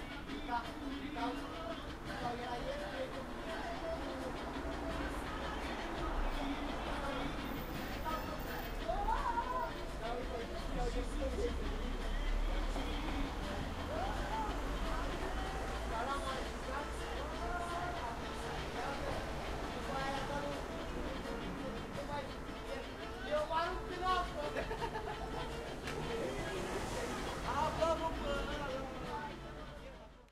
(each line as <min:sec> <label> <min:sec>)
0:00.0 people 0:30.3